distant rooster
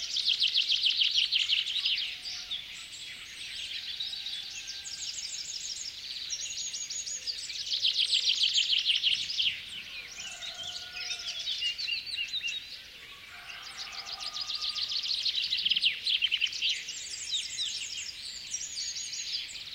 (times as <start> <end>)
3.8 5.3, 9.8 11.8, 13.0 15.2